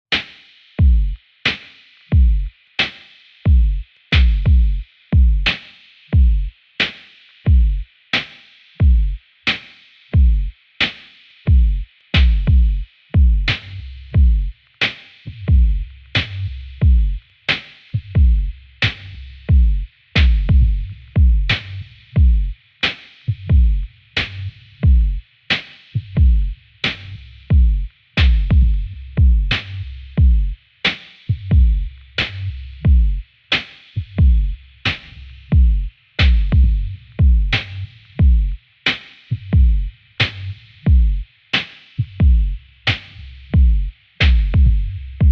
percussion loop 0.1 - 2.9
drum 0.1 - 45.3
bass 0.8 - 1.2
bass 2.1 - 2.6
bass 3.5 - 6.6
percussion loop 3.5 - 9.2
bass 7.4 - 7.9
bass 8.8 - 9.3
bass 10.2 - 10.6
percussion loop 10.2 - 45.3
bass 11.5 - 22.7
bass 23.3 - 25.4
bass 26.0 - 30.7
bass 31.3 - 38.6
bass 39.3 - 41.3
bass 42.0 - 45.3

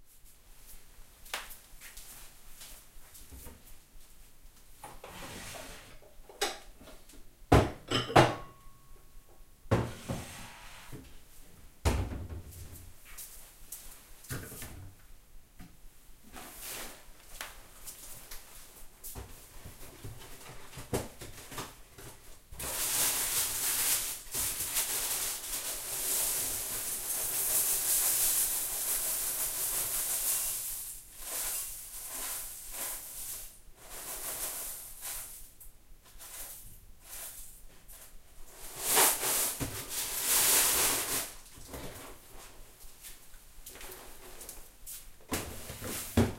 bowel being taken from cupboard 9.8 - 11.1
cornflakes being poured into the bowel 22.6 - 35.4

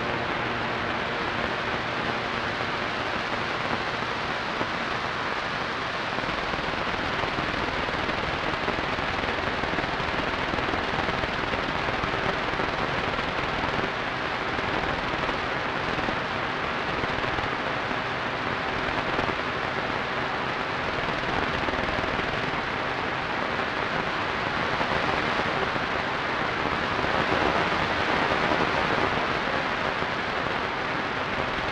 radio static 0.0 - 31.7

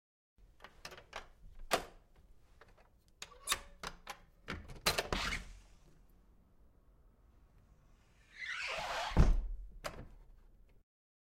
unlock and open door 3.2 - 5.4

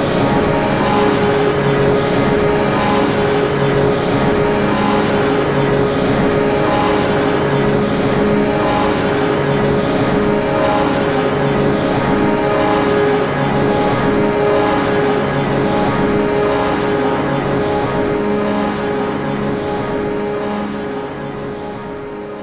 drone 0.0 - 22.4

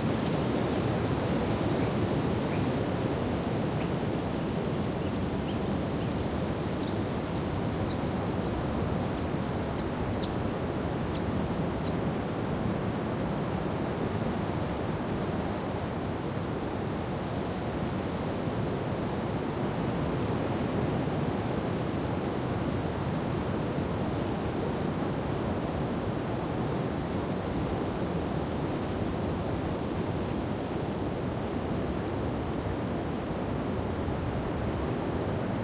wind 0.0 - 35.6
birds 3.7 - 12.0

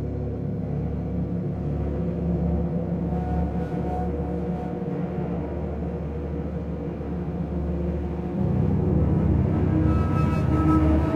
Orchestra Synth Strings Drone 0.0 - 11.1

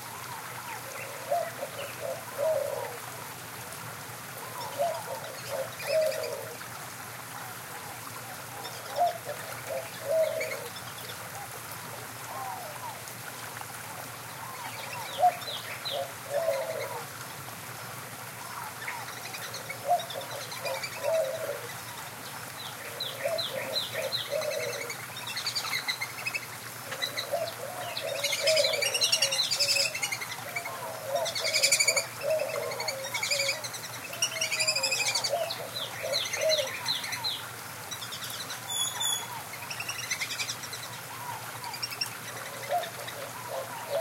Great-tailed Grackle 0.0 - 3.1
Inca Dove 0.0 - 3.6
White-winged Dove 0.0 - 3.6
small stream 0.0 - 44.0
White-winged Dove 4.2 - 44.0
Inca Dove 4.3 - 44.0
Great-tailed Grackle 4.4 - 6.6
Great-tailed Grackle 7.4 - 13.0
Great-tailed Grackle 14.3 - 17.1
Great-tailed Grackle 18.4 - 44.0
Gila Woodpecker 22.9 - 37.2

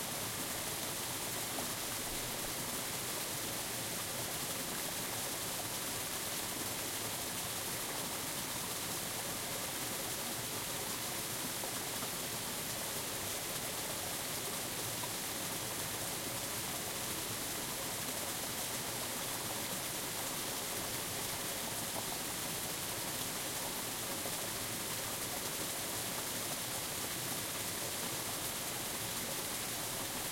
big stream 0.0 - 30.3
waterfall 0.0 - 30.3

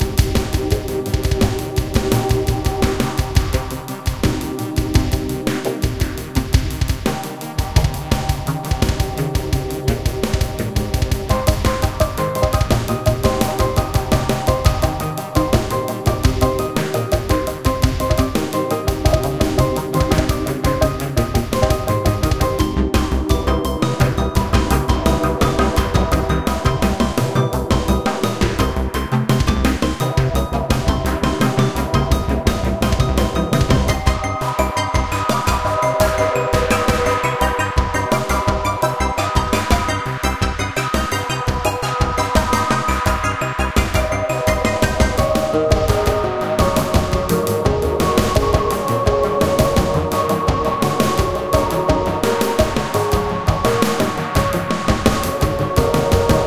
Drums 0.0 - 56.4
bass line 0.0 - 56.4
synthesizers 0.0 - 56.4

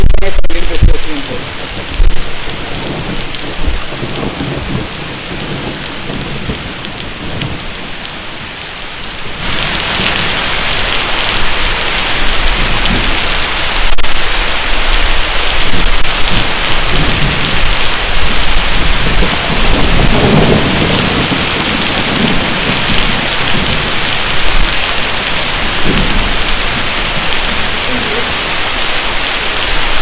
voces 0.0 - 1.5
rain 0.0 - 30.0
storm with somw thunders 0.0 - 30.0
voces 27.8 - 28.3

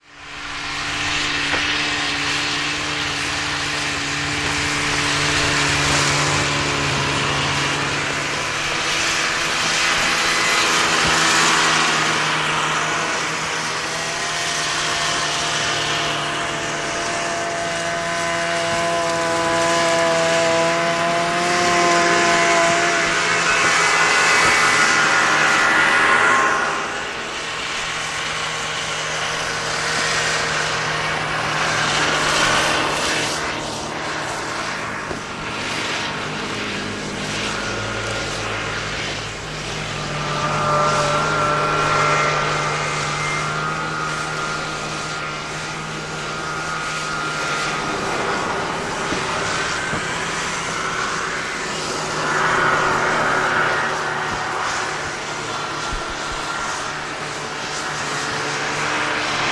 snowmobiles pass by 0.0 - 59.5

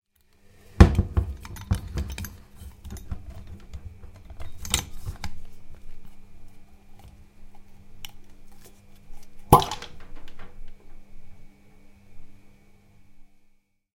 Opening a wine bottle 9.5 - 10.0

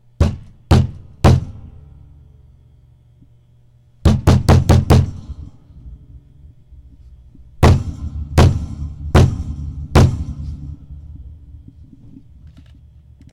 Pounding a desk with my fist 0.2 - 1.7
Pounding a desk with my fist 4.0 - 5.2
Pounding a desk with my fist 7.6 - 10.4

